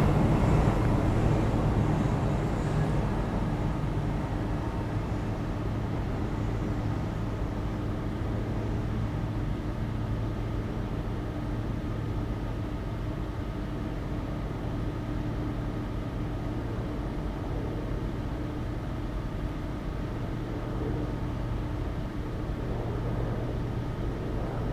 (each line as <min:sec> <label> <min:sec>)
0:00.0 ventilation 0:24.7